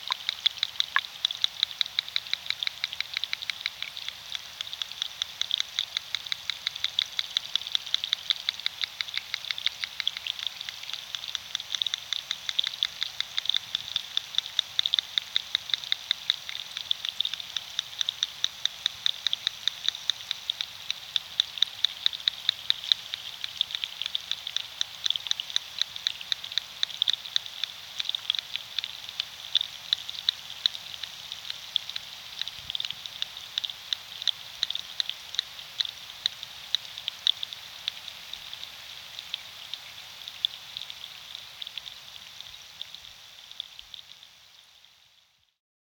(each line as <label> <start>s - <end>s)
Underwater sounds of river 0.0s - 45.2s